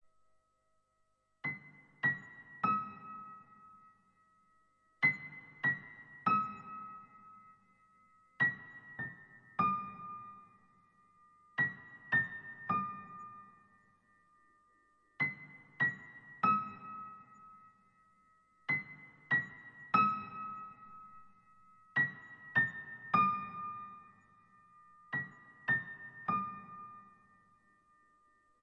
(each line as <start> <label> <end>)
1.4 piano music 3.9
5.0 piano music 7.6
8.4 piano music 18.1
18.7 piano music 28.4